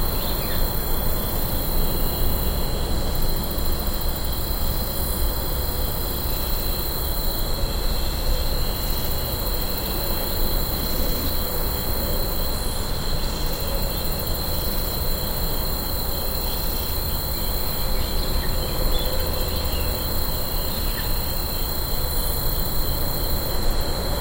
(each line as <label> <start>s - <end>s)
crickets 0.0s - 24.2s